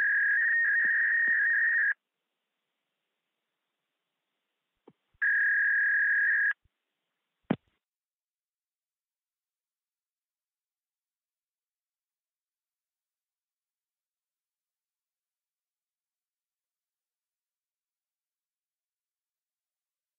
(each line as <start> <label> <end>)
0.0 dial-up 2.0
5.2 dial-up 6.6